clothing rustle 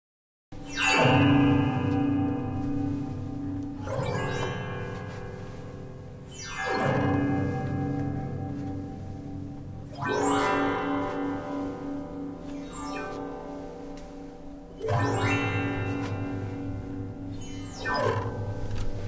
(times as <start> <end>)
2.3 6.3, 7.4 17.2